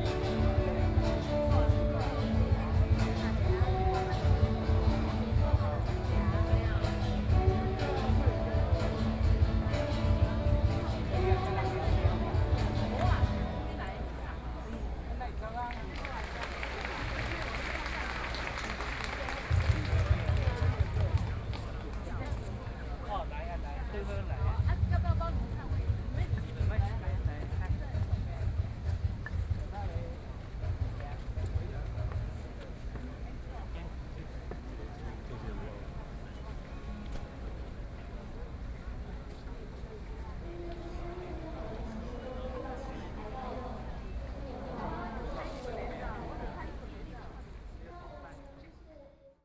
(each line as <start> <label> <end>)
15.8 Protest party 22.5